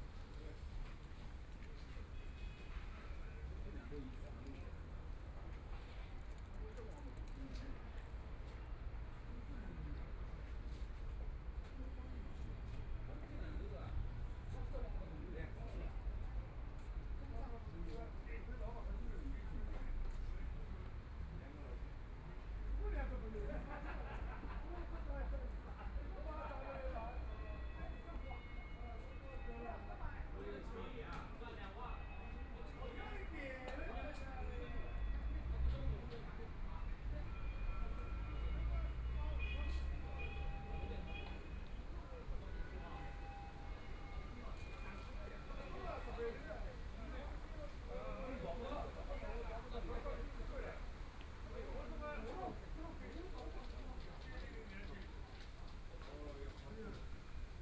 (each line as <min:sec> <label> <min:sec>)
0:40.0 Bells from schools 0:41.5